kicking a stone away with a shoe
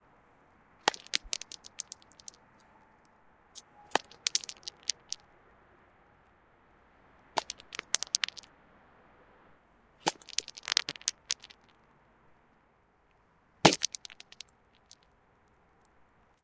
0.9 2.0, 7.4 8.4, 10.0 11.5, 13.6 14.4

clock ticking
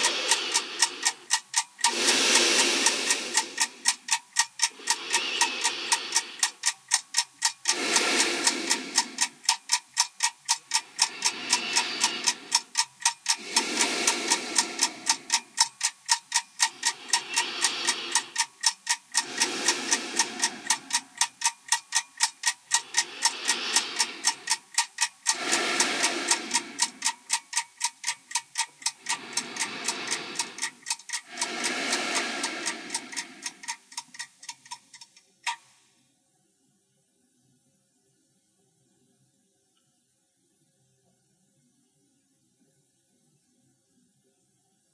0.0 35.8

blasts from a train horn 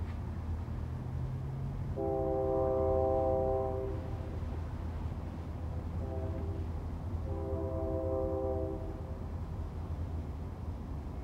1.9 4.4, 5.8 9.3

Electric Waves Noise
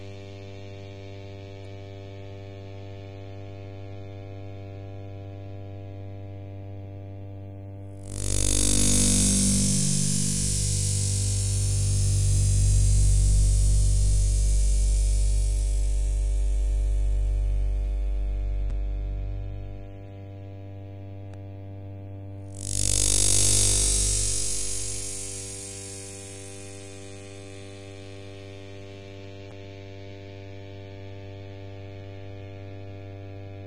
8.1 18.6, 22.6 27.8

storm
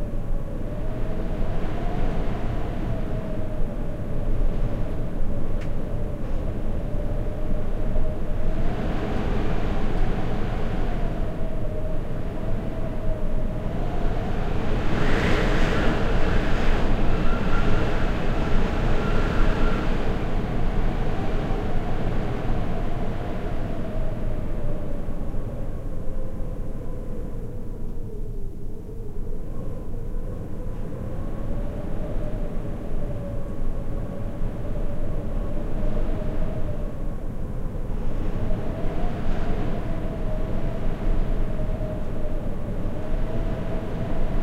2.4 25.8

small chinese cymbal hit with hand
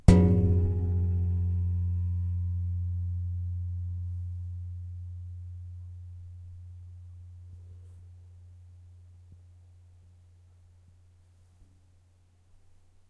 0.0 5.7

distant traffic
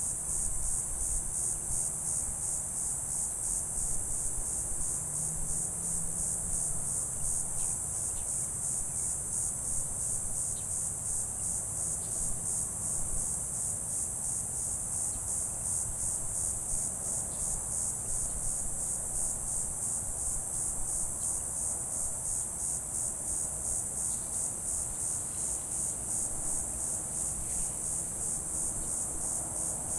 27.6 29.9

